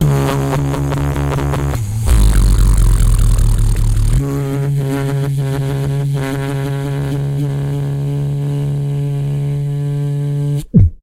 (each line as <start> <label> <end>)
2.1 Beatbox 4.7